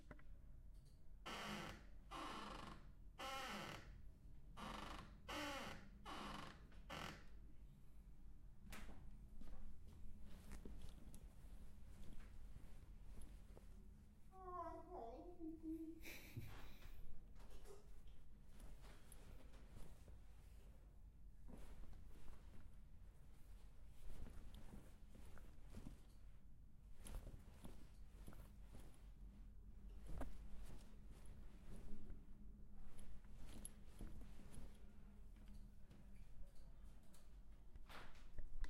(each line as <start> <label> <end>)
21.5 clothes flapping 29.1
30.0 clothes flapping 32.2